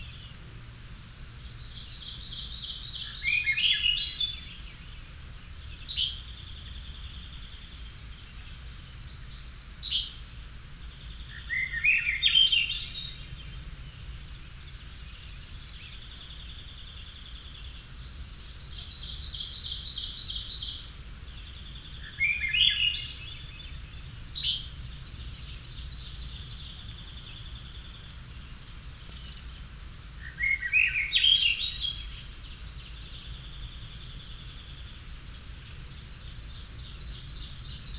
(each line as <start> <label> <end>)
1.7 Swainsons Thrush 5.0
10.8 Swainsons Thrush 13.6
14.6 Swainsons Thrush 24.7
30.2 Swainsons Thrush 37.9